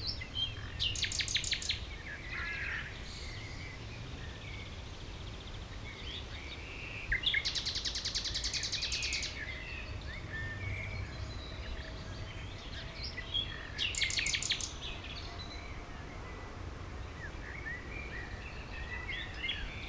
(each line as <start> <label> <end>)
0.0 nightingale 2.4
12.6 nightingale 16.3